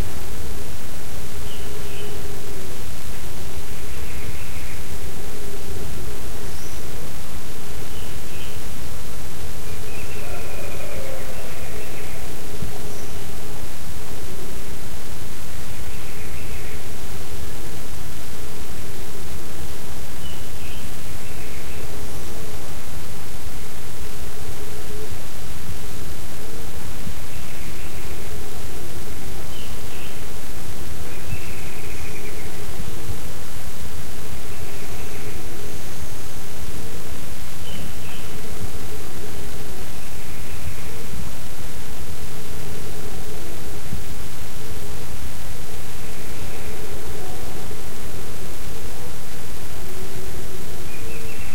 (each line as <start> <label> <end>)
0.0 Birds 51.5
0.0 wind 51.5